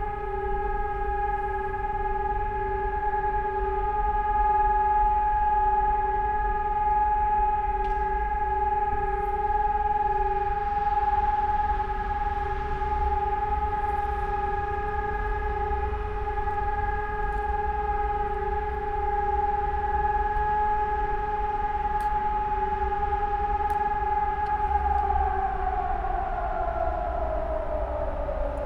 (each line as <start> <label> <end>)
7.2 sirens testing 28.6